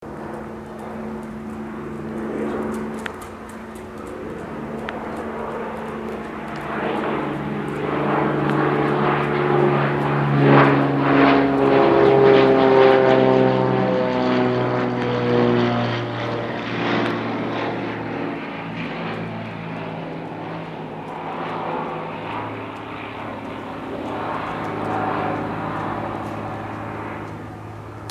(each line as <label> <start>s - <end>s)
airplane 0.0s - 28.1s